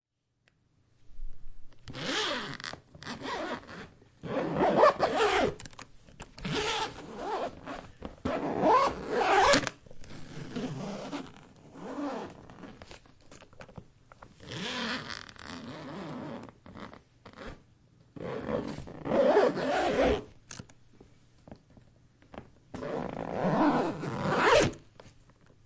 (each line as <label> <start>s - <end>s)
zip 1.9s - 5.7s
zip 6.4s - 13.0s
zip 14.4s - 17.6s
zip 18.2s - 20.3s
zip 22.8s - 24.8s